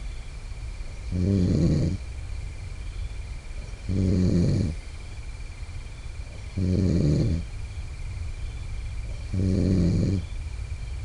Friend Snoring in Tent 1.0 - 2.0
Friend Snoring in Tent 3.6 - 4.8
Friend Snoring in Tent 6.3 - 7.5
Friend Snoring in Tent 9.0 - 10.3

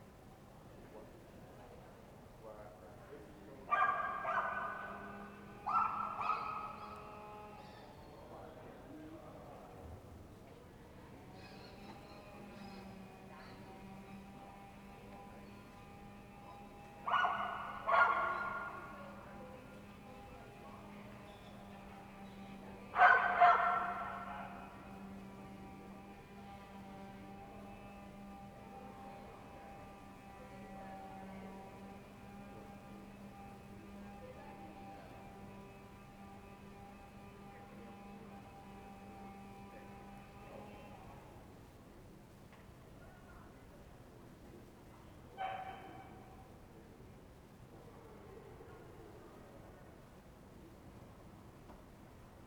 barkling dog 3.7 - 5.0
barkling dog 5.7 - 6.9
barkling dog 17.0 - 19.0
barkling dog 23.0 - 24.7
barkling dog 45.4 - 46.2

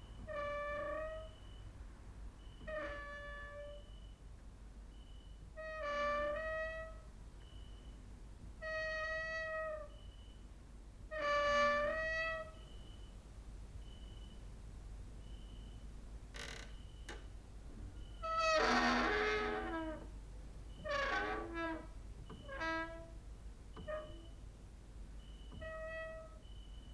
creaking with wooden doors 0.2 - 1.4
creaking with wooden doors 2.6 - 3.9
creaking with wooden doors 5.6 - 7.0
cricket outside 9.9 - 10.4
creaking with wooden doors 11.1 - 12.6
creaking with wooden doors 16.3 - 17.3
creaking with wooden doors 18.0 - 24.4
creaking with wooden doors 25.5 - 26.4

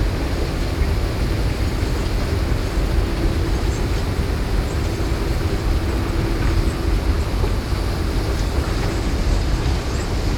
long haul 1800 mm wide conveyor belt 0.0 - 10.3

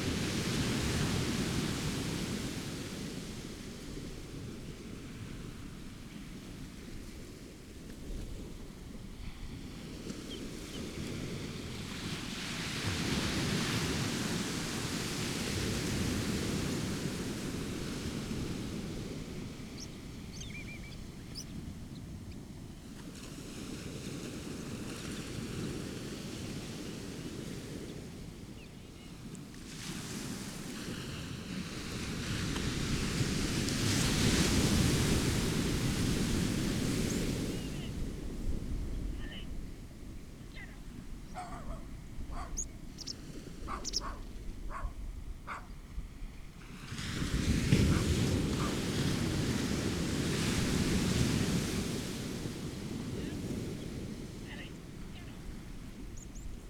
waves hitting banks of sea weed 0.0 - 28.5
bird calls from rock pipit 19.7 - 21.6
waves hitting banks of sea weed 29.2 - 41.6
bird calls from rock pipit 41.3 - 45.7
starling 43.7 - 44.9
black-headed gull 43.7 - 44.9
waves hitting banks of sea weed 46.5 - 56.6

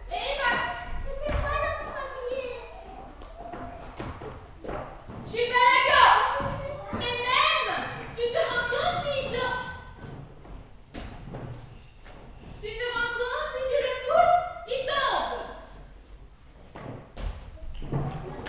very young child 0.0 - 4.3

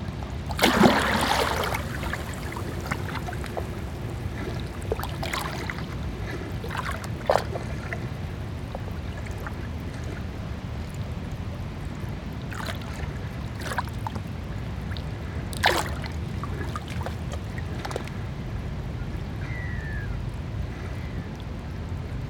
Calm waves 0.0 - 22.2

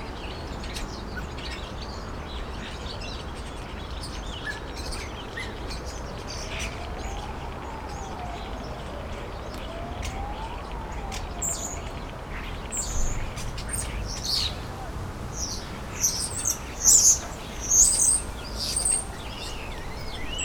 bird chirps 15.4 - 20.4

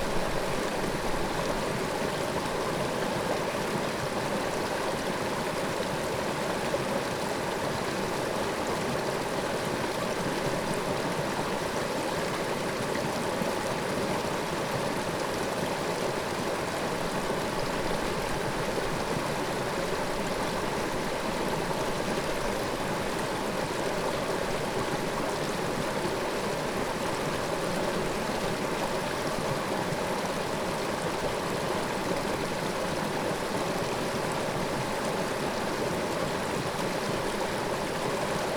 brook 0.0 - 38.5

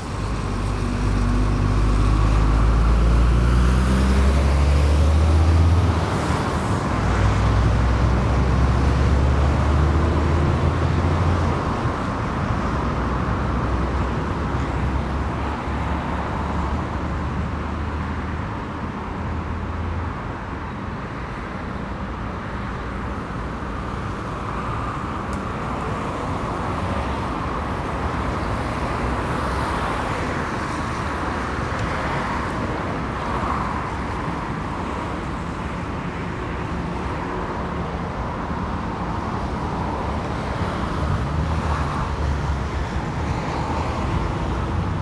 Traffic 0.0 - 45.0

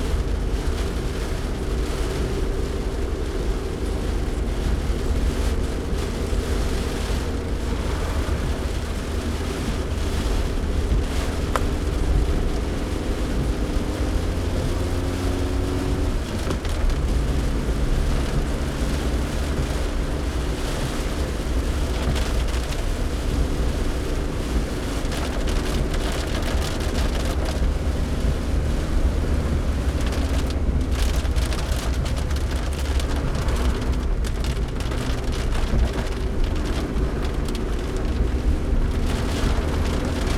car drive in the rain 0.0 - 40.3
heavy rain showers 0.0 - 40.3

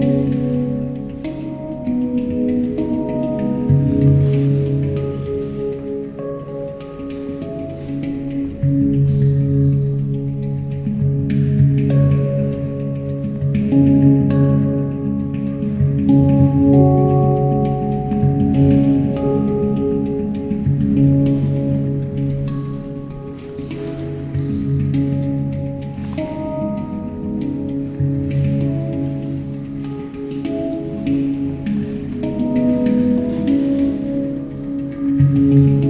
Handpan improvisation 0.0 - 35.8

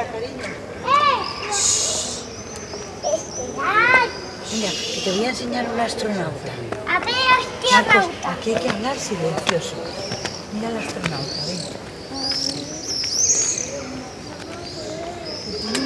birds 0.0 - 15.8
people 0.0 - 15.8

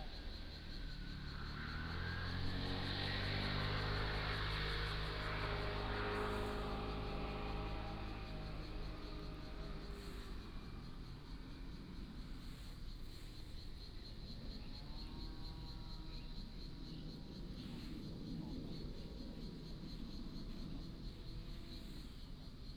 aircraft flying 1.8 - 11.9

